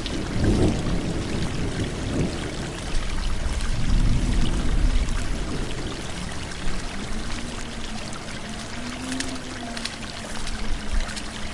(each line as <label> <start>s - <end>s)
thunderstorm 0.0s - 8.7s
creek 0.0s - 11.5s
rain 0.0s - 11.5s
Walking through a forest 6.8s - 11.5s